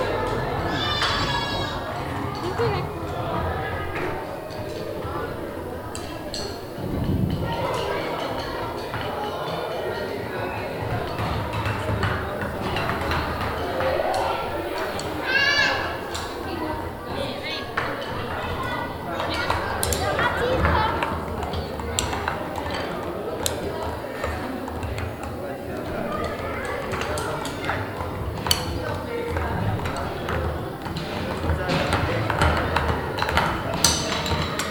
voices by kids and parents 0:00.0 - 0:34.7
several drum sticks hitting simultaneously on a wooden table 0:29.9 - 0:34.7

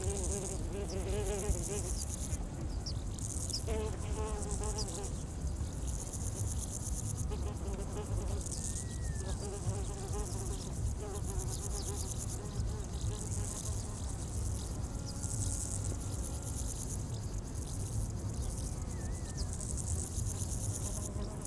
many insects 0:00.0 - 0:21.4

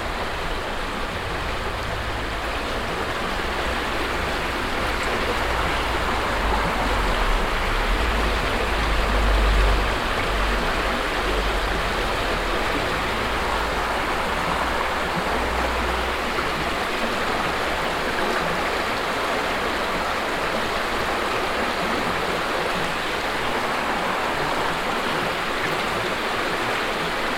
peaceful floating water 0:00.0 - 0:27.3

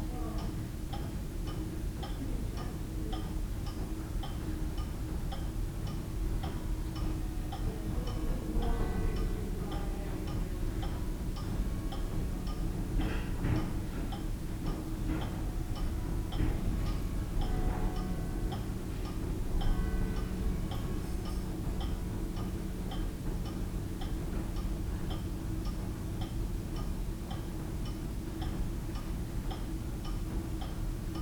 wall clock ticking and chiming 0:00.4 - 0:31.2
church clock chiming 0:05.3 - 0:26.4

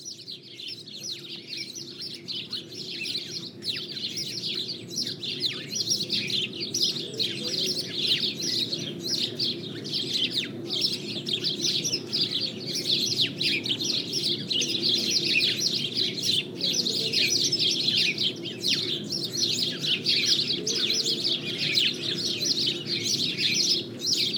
sparrows, discussing into a grove 0:00.0 - 0:24.3
pedestrians 0:05.3 - 0:24.3

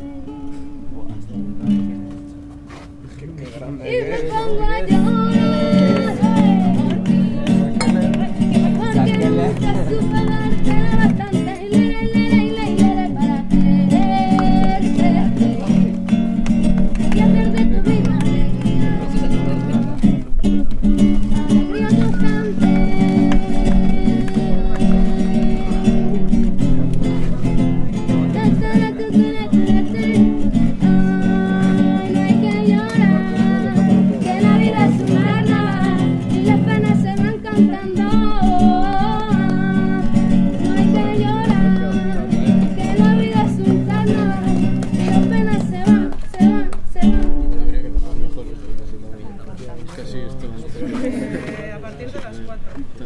people coming to the music campa 0:00.0 - 0:53.0

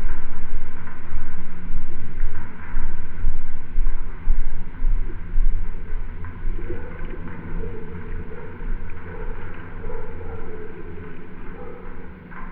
metal sculptures 0:00.0 - 0:12.5

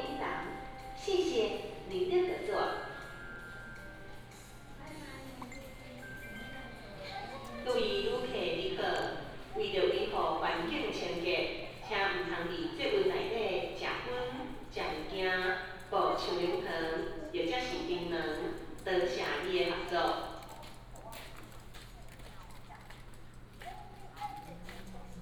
In-car message broadcasting 0:00.0 - 0:02.9
Take the MRT 0:00.0 - 0:20.1

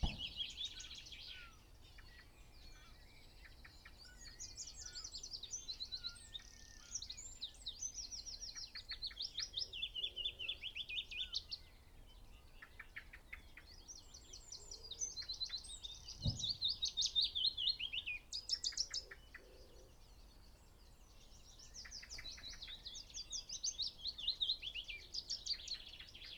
wood pigeon 0:00.0 - 0:00.8
blackbird 0:00.0 - 0:26.3
pheasant 0:00.0 - 0:26.3
song thrush 0:00.0 - 0:26.3
willow warbler song 0:00.0 - 0:26.3
dunnock 0:00.0 - 0:00.5
dunnock 0:16.2 - 0:16.6

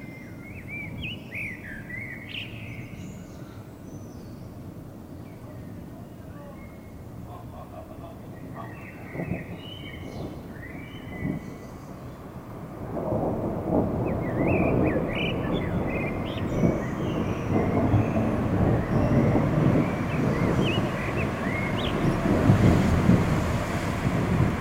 beginning thunderstorm 0:05.6 - 0:24.6

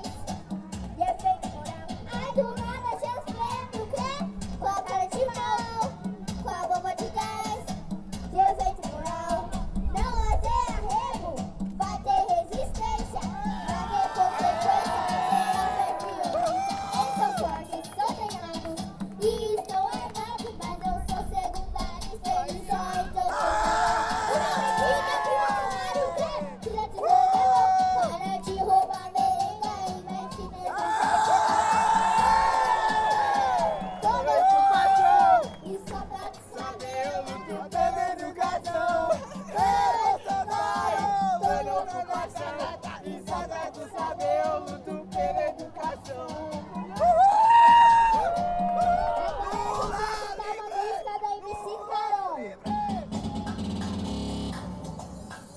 show de crianças 0:00.0 - 0:55.5

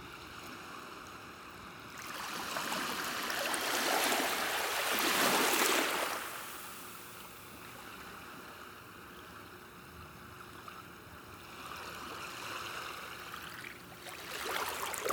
Waves are small 0:00.0 - 0:15.1

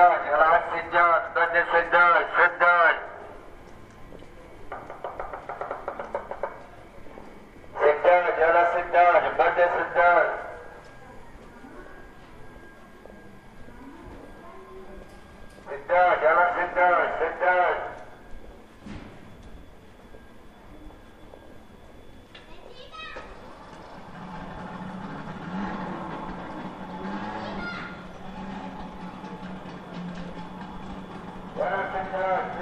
street vendor II 0:00.0 - 0:32.6

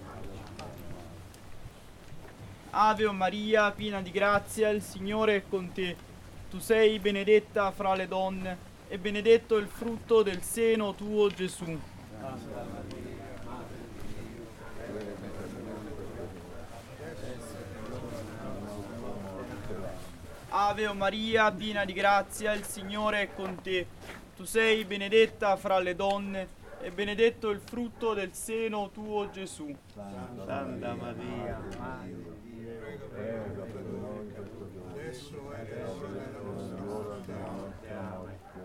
men walk 0:00.0 - 0:38.6

